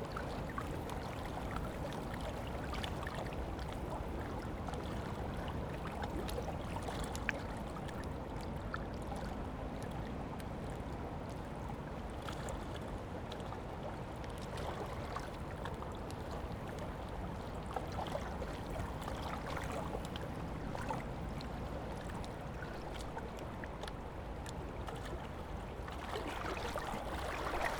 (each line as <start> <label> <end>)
14.8 river ripples amongst stones 27.7
18.6 gloopy, slopy underwater world 27.7
22.2 rowing boats and kayaks 27.7